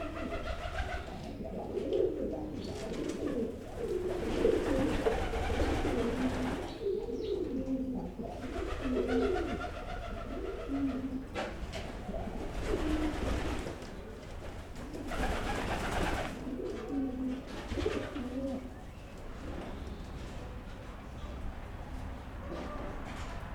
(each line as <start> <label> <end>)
0.0 pidgeons 23.5